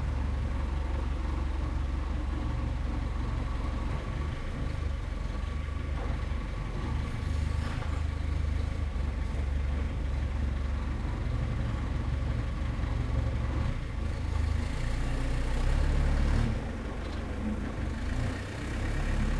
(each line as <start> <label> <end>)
0.0 forklift 19.3
0.0 tractor 19.3
7.2 loading truck with blackcurrant 8.6